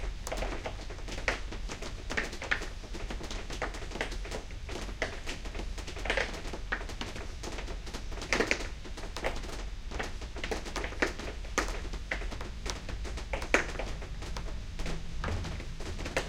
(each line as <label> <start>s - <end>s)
Rain 0.0s - 16.2s